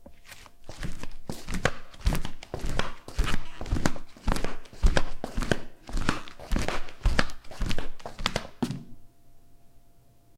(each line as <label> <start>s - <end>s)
footsteps flipflops 0.0s - 9.0s